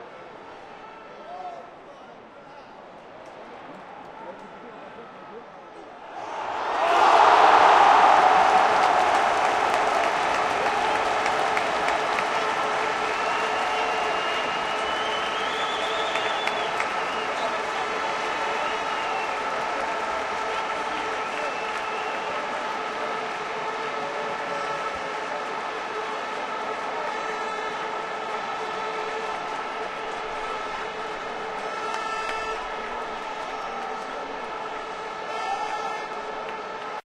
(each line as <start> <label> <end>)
0.0 crowd 37.0